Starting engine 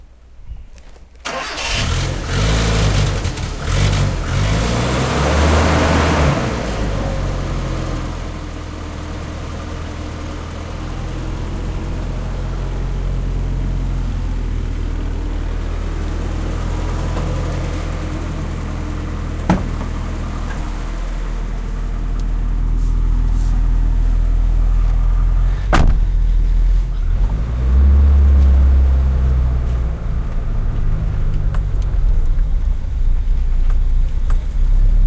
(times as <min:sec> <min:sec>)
0:01.2 0:23.4